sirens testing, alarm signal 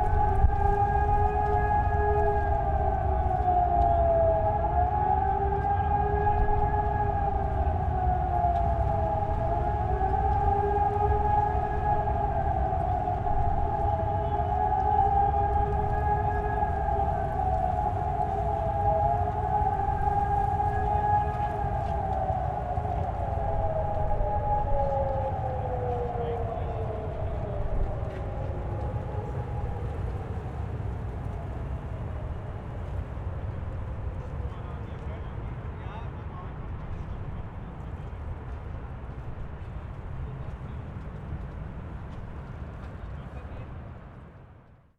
0.0 32.3

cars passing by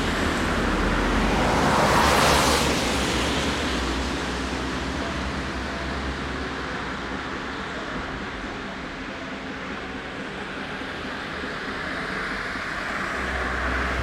0.0 7.7, 11.4 14.0

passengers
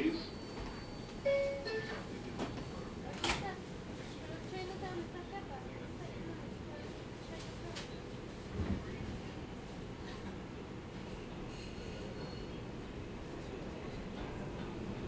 0.0 10.4

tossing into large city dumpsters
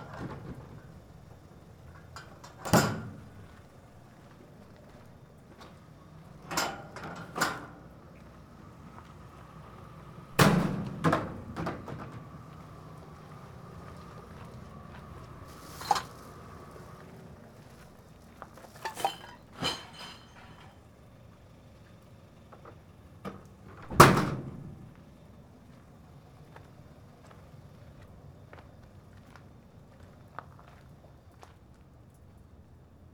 10.3 12.9, 23.3 25.0

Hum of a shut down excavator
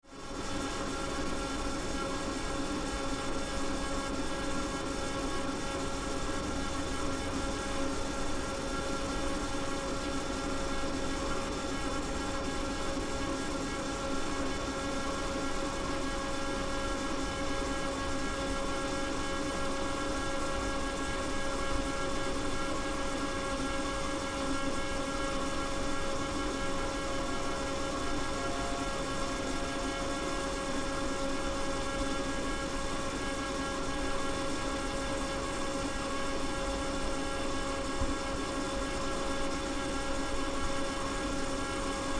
24.3 33.1

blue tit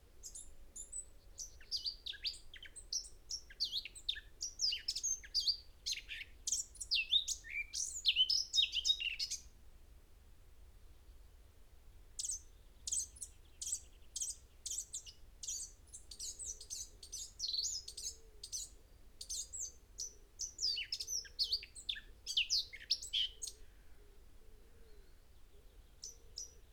0.2 9.5, 12.2 23.6

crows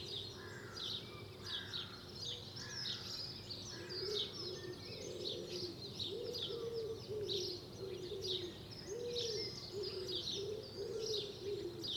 0.4 2.0

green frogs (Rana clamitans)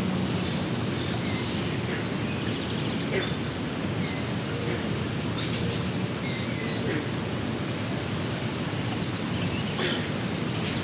6.7 7.2, 9.8 10.2

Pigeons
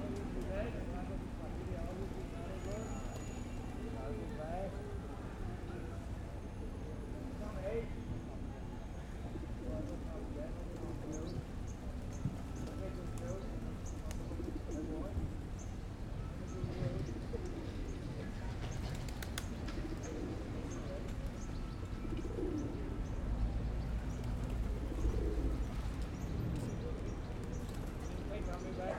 9.0 28.9

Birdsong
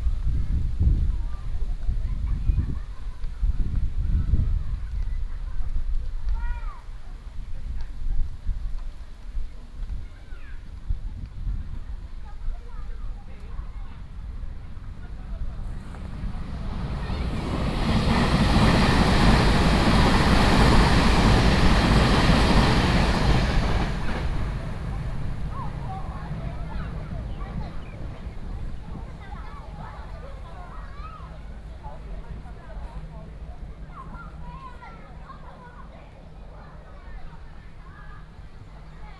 15.6 30.3

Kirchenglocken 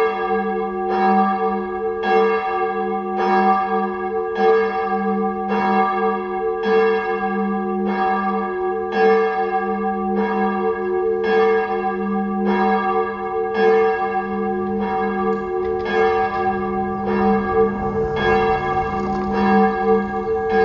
8.9 20.6

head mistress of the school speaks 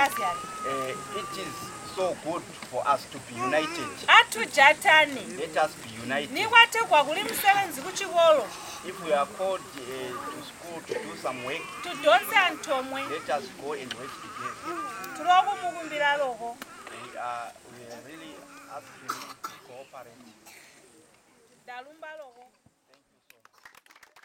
6.4 8.5

